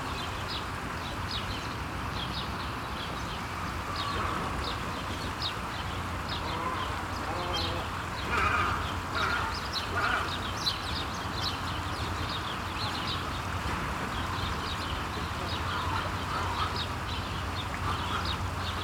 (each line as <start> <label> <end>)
0.0 water sounds of a small fountain 18.8
3.8 bird voices 13.5
14.2 bird voices 18.8